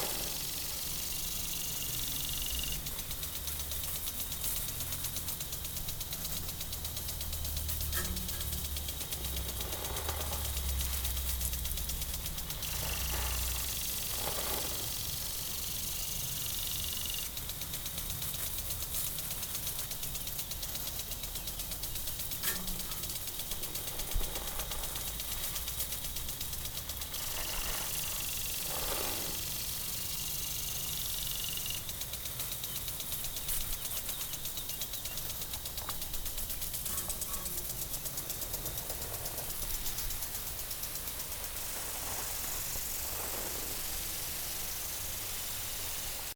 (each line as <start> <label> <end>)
0.0 water sprinkle system 46.3